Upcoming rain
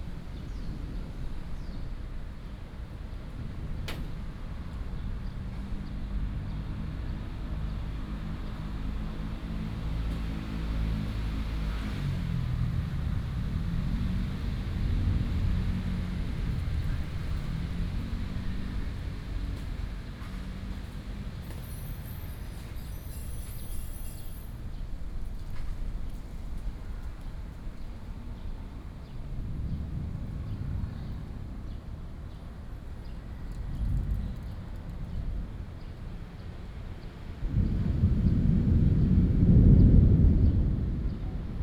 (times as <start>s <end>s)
37.4s 41.6s